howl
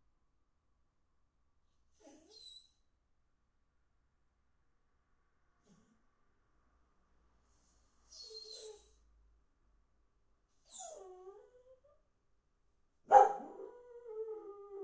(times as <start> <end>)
10.7 12.0, 13.3 14.8